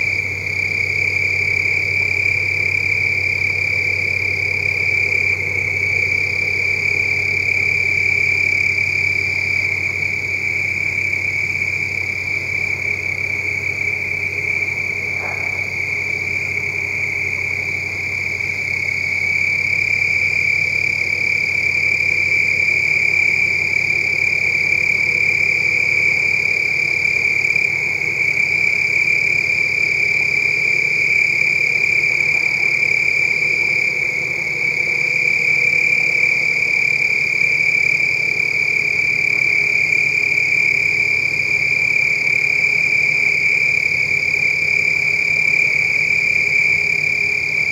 0.0s crickets 47.7s

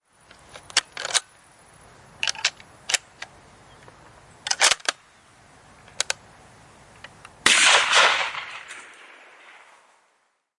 7.4s rifle shot 9.9s

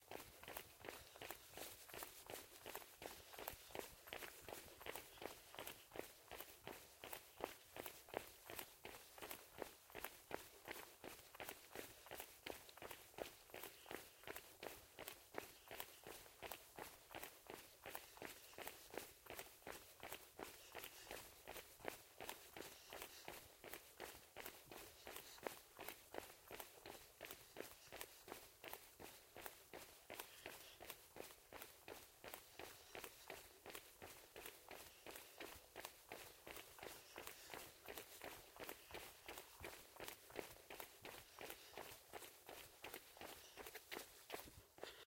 0.0s run on road 45.0s

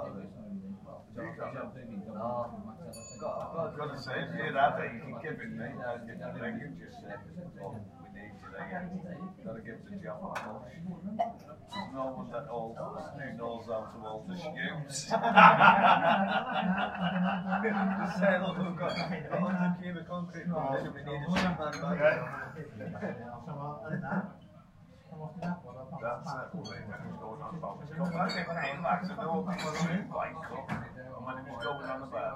0.0s conversation 32.3s
2.9s bell 3.5s
15.0s laughter 18.2s

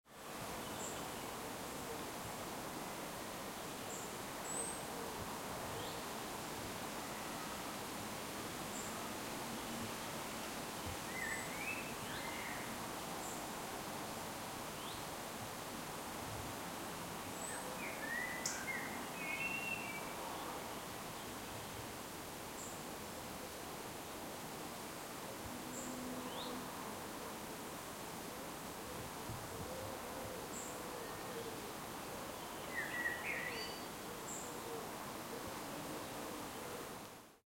0.0s wind in trees 37.4s

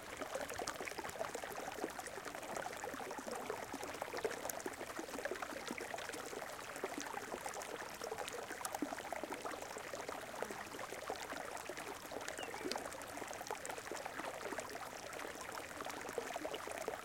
0.0s Water flowing 17.0s
12.3s birds in the near background 12.8s

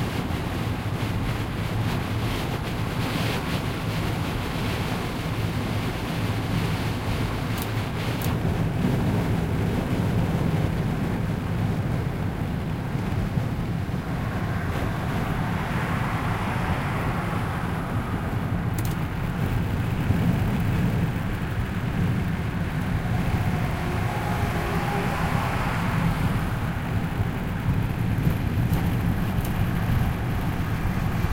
0.0s Several levels of opened window of a car 31.3s

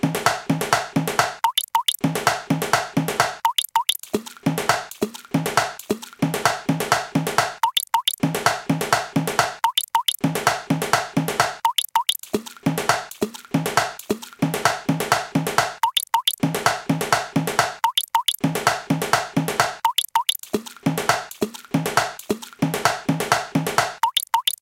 0.9s bubble 24.6s

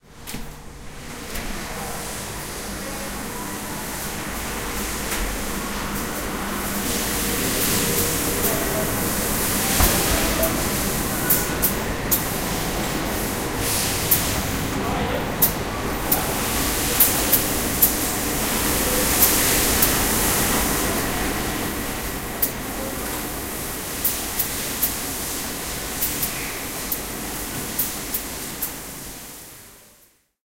6.4s lens moulding production line 14.7s
7.8s pneumatic sounds 12.4s

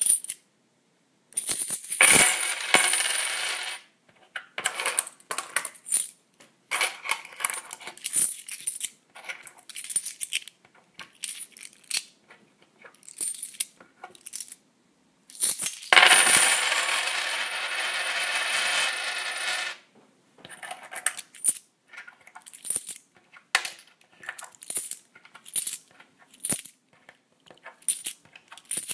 1.4s d2's (coins) rolling on various surfaces 3.9s
15.4s d2's (coins) rolling on various surfaces 19.8s

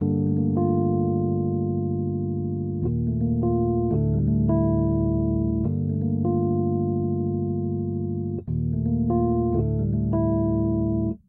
0.0s piano 11.2s

